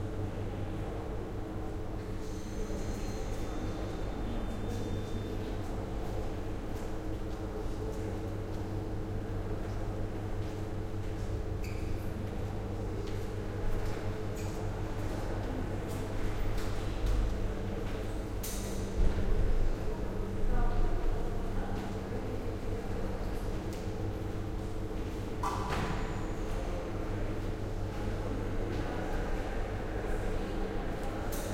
2.1s People talking 6.1s
13.8s People talking 16.4s
19.0s People talking 24.0s
25.9s People talking 31.5s

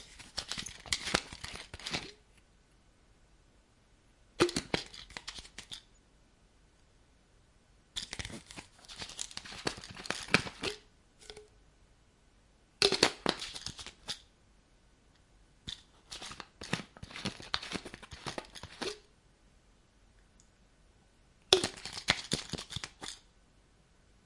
4.4s open close small bottle 5.9s
8.0s open close small bottle 11.5s
12.8s open close small bottle 14.3s
15.7s open close small bottle 19.1s
21.5s open close small bottle 23.3s

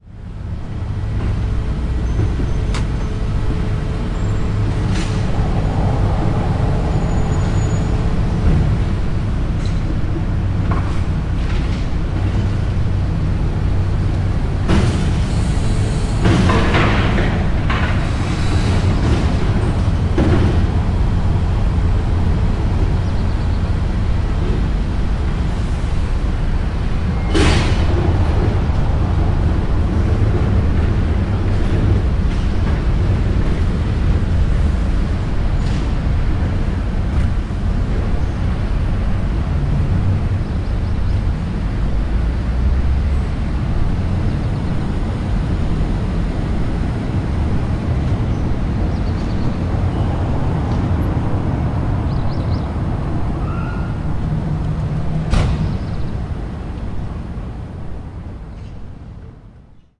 0.1s Dumpster car 59.6s

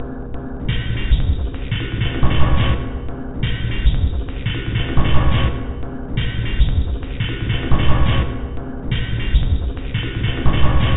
0.5s Drum 10.9s

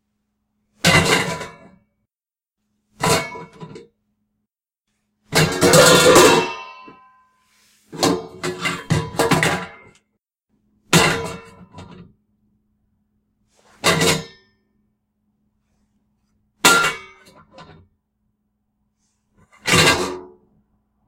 0.8s metal pan crashes 1.7s
5.3s metal pan crashes 7.2s
10.9s metal pan crashes 11.7s
16.6s metal pan crashes 17.4s
19.6s metal pan crashes 20.3s

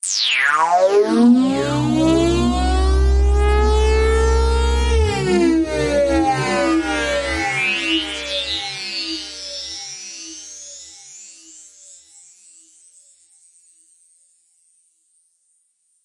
0.6s synth 9.0s

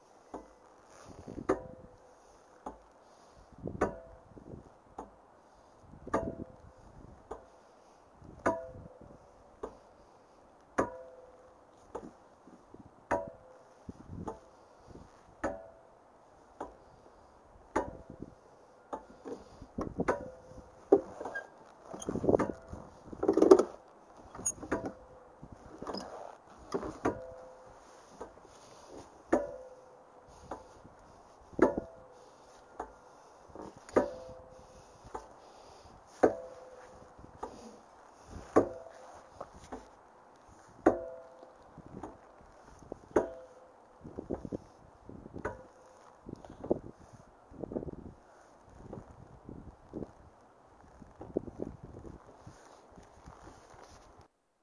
18.9s chains of a tire swing clicking together 25.0s
25.6s chains of a tire swing clicking together 29.8s

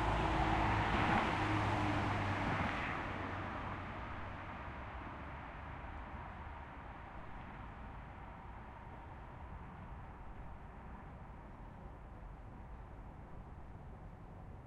0.0s cars 9.9s

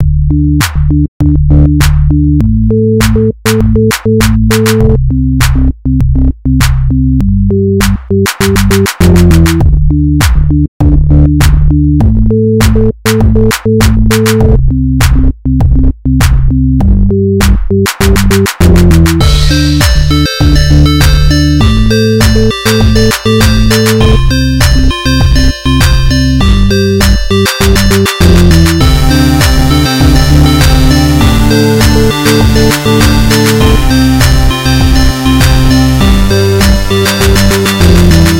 7.8s Kicker 38.3s
19.2s TripleOscillator 38.3s

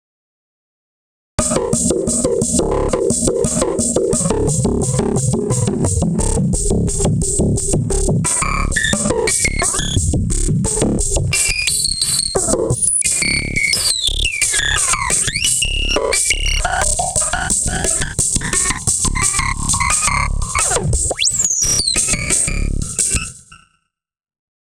1.4s Bass Drum 11.4s
16.6s Bass Drum 22.9s

